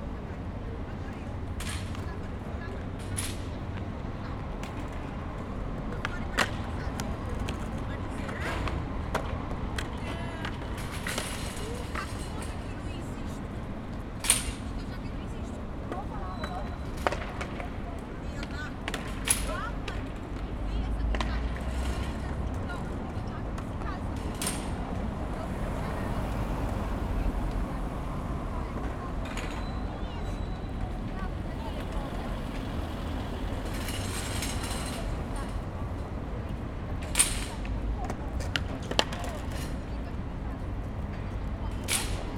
skaters 0.0 - 42.3
traffic 0.0 - 42.3

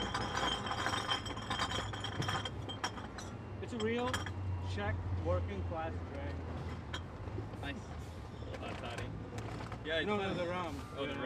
recycling beer bottles 0.0 - 4.3

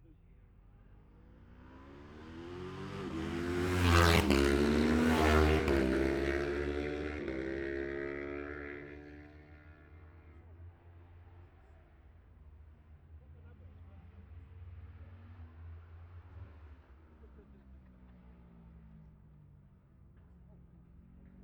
road racing 0.4 - 21.4

